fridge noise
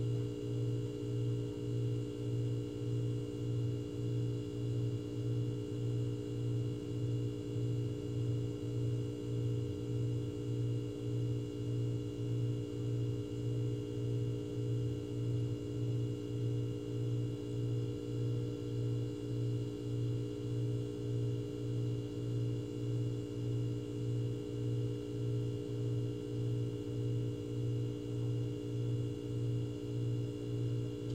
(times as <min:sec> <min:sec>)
0:29.3 0:31.1